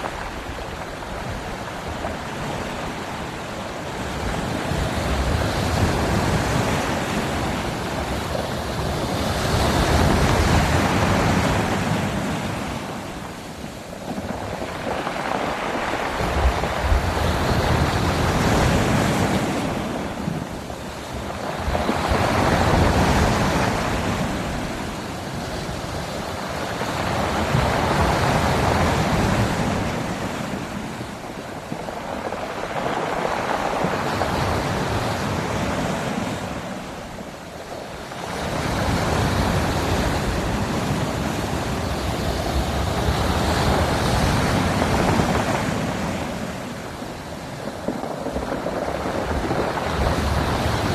waves crashing 0.0 - 50.9

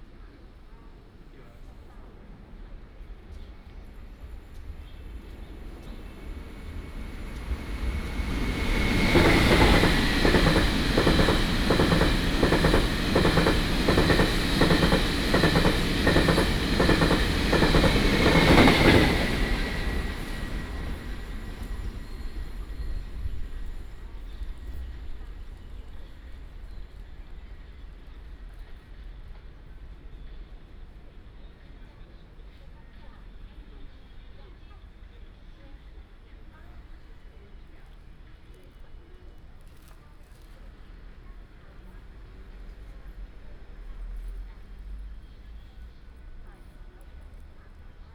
Train traveling through 3.2 - 29.9

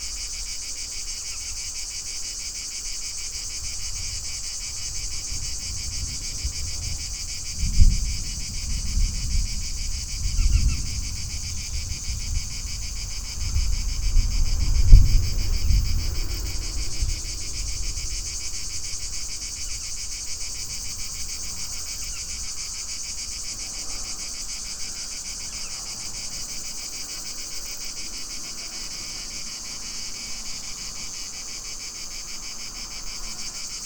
cicadas 0.0 - 33.8
distant thunder 3.6 - 24.1

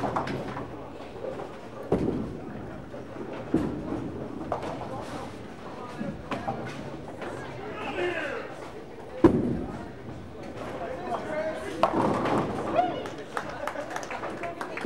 Appreciative bowlers 0.0 - 14.8

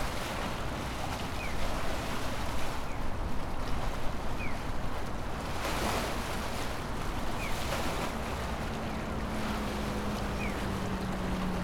water splashing on the concrete walls of the canal 0.0 - 11.6

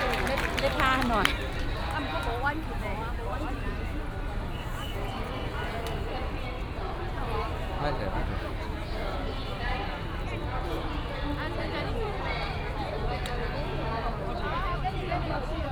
Traffic sound 0.0 - 10.1
A lot of people 0.0 - 15.7

